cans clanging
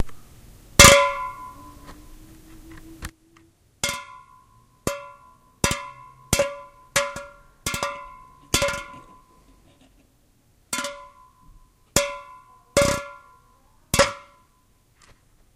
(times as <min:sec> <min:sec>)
0:03.8 0:09.4, 0:10.8 0:13.3